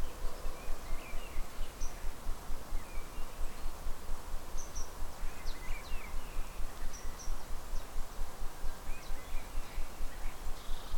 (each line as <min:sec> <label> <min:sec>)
0:00.0 Rustling leaves 0:10.9
0:04.6 bird calls 0:08.0
0:08.6 bird calls 0:10.9